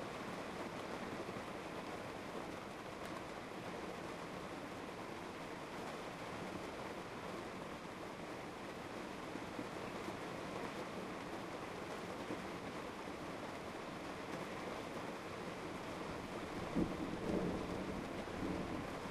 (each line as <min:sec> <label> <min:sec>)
0:00.0 rain 0:19.1
0:16.4 thunder 0:19.1